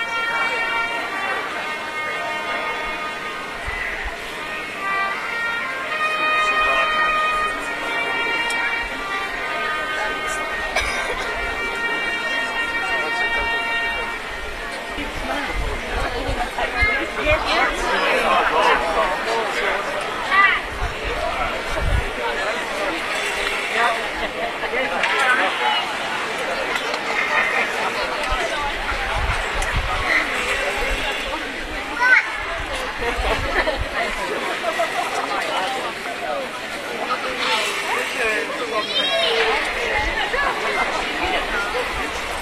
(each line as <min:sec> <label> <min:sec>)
0:00.0 bugle call 0:21.6
0:00.0 Town hall clock strikes the noon 0:33.0
0:00.0 crowd 0:42.4
0:33.9 Town hall clock strikes the noon 0:42.4